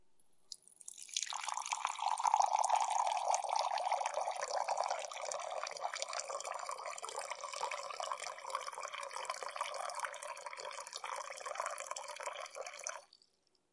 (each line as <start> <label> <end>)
0.5 filling cup of water 13.3